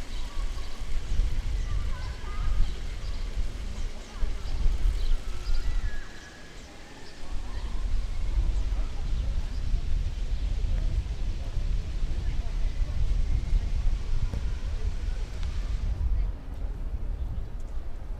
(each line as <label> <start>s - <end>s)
Children playing in the main square with water 0.0s - 17.0s